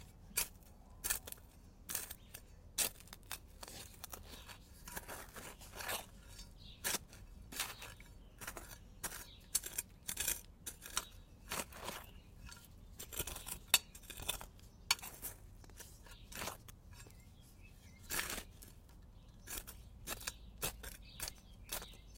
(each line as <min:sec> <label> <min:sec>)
0:00.0 Digging Sand 0:22.1